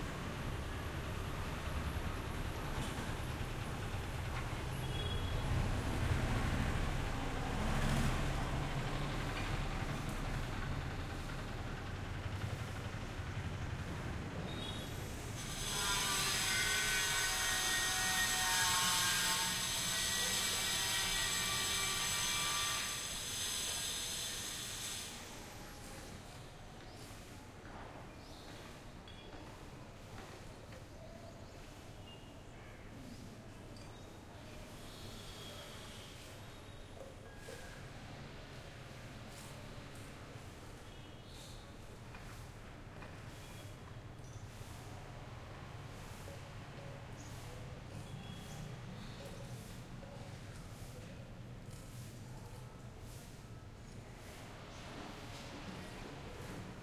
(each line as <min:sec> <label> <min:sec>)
0:00.0 Vehicles passing by 0:15.4
0:00.0 construction work 0:28.0
0:33.2 construction work 0:56.8